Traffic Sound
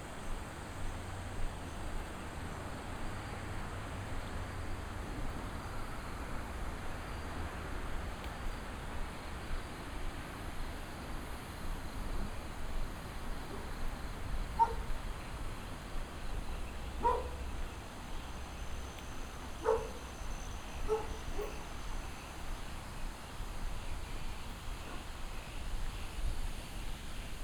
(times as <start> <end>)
13.0 22.3